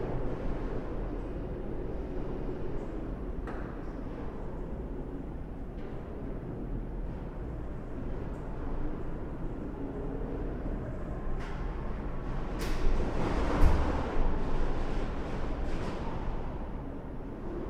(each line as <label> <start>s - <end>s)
creaking of the stairwell structure during a wind storm 5.6s - 17.6s